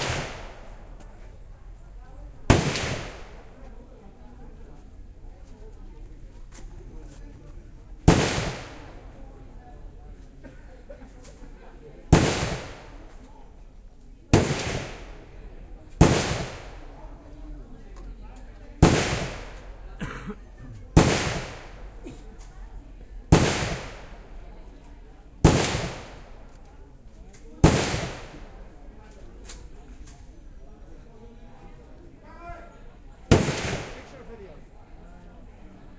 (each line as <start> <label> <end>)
0.0 real rounds of AK47, M16, M60 0.7
8.1 real rounds of AK47, M16, M60 9.0
12.1 real rounds of AK47, M16, M60 13.1
14.3 real rounds of AK47, M16, M60 15.3
16.0 real rounds of AK47, M16, M60 16.9
18.8 real rounds of AK47, M16, M60 19.7
21.0 real rounds of AK47, M16, M60 21.8
23.3 real rounds of AK47, M16, M60 24.3
25.4 real rounds of AK47, M16, M60 26.4
27.6 real rounds of AK47, M16, M60 28.6
33.3 real rounds of AK47, M16, M60 34.2